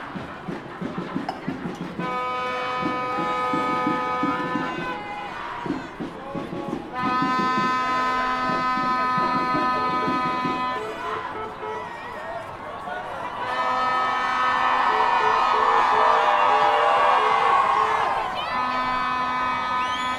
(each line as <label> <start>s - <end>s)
Climate protests 0.0s - 20.1s